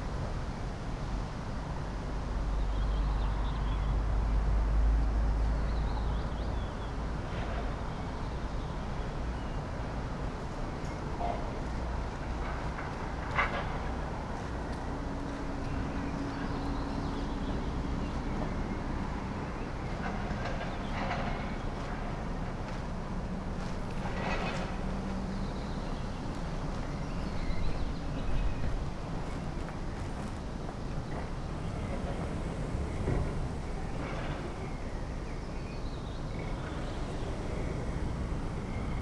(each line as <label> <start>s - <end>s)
Fright train passing in the background 0.0s - 39.0s
few people pass by and enter the building 0.0s - 39.0s